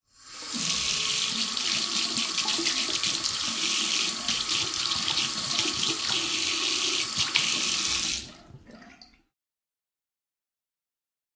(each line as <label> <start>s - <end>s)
Hand washing 0.4s - 9.2s